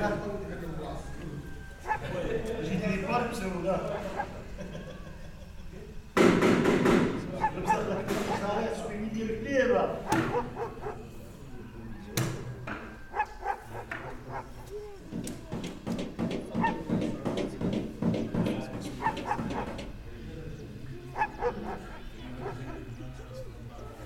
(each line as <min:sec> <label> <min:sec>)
0:00.0 hommes discutent dans un café 0:24.0
0:07.2 ouvriers travaillent le métal avec un marteau 0:09.1
0:09.8 ouvriers travaillent le métal avec un marteau 0:24.0